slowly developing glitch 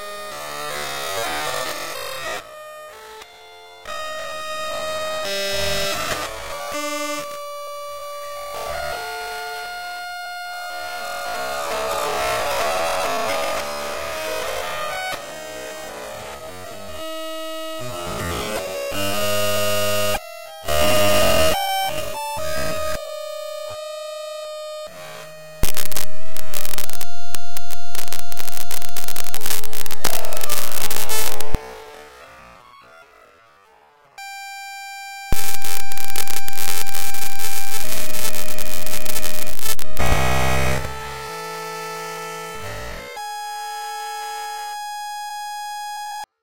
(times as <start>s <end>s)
25.6s 43.2s